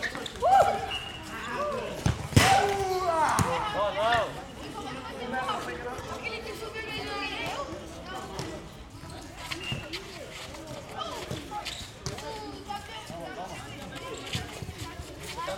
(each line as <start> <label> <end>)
0.0 Young Brasilians playing soccer 15.5